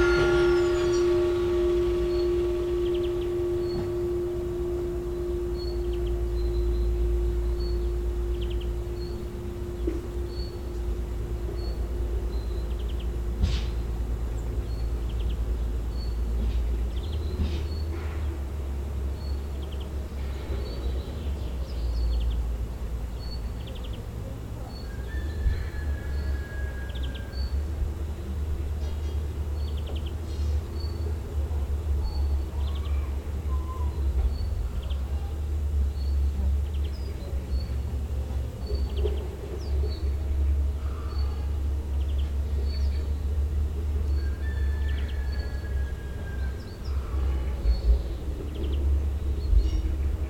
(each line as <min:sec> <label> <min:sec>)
0:00.0 bells near the house 0:50.2